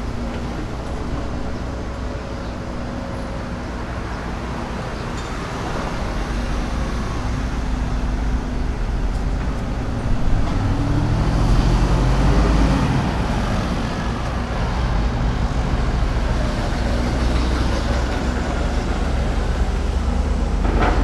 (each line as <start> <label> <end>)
0.0 Construction noise 21.0
0.0 Traffic Noise 21.0